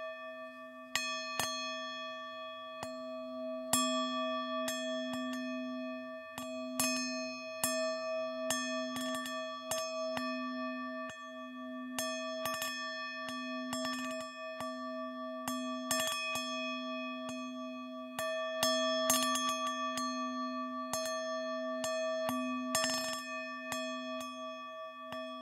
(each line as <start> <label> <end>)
11.0 Tibetan singing bowl being tapped 25.4